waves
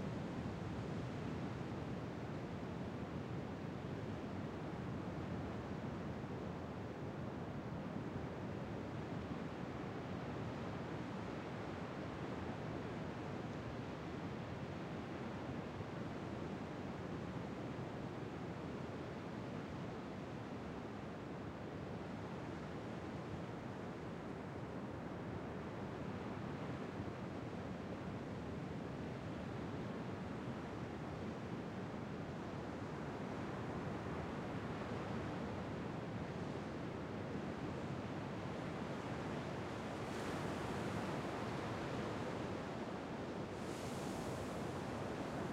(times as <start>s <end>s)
23.7s 45.5s